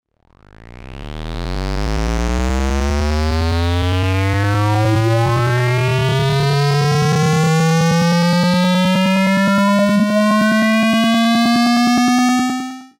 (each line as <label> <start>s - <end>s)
sweep sound created using a square waveform 0.6s - 12.9s